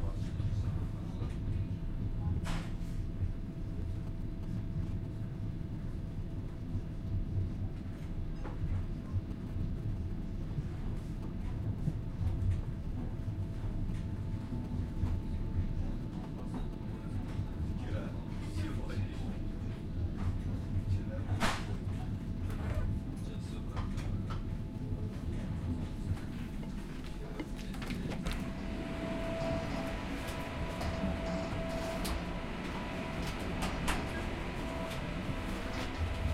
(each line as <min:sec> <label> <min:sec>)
0:00.0 Walking through a moving train passenger wagon 0:36.3
0:22.6 moving train passenger wagon 0:36.3